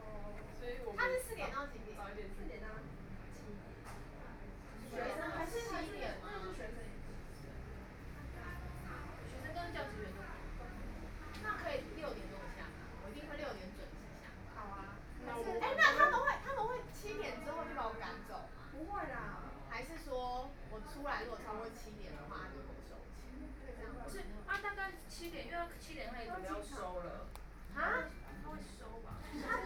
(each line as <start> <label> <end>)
0.0 group of students chatting 29.6